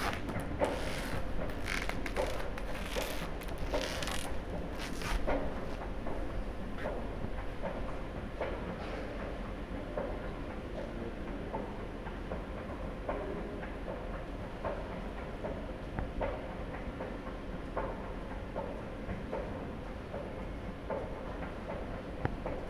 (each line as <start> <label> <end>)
0.0 plastic material emits various kinds of squeaky sounds 5.8